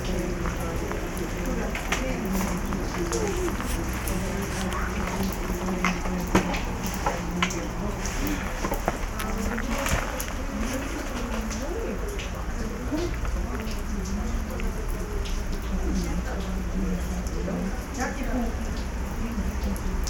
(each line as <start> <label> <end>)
0.0 talks in a round thorn house / graduation tower 19.9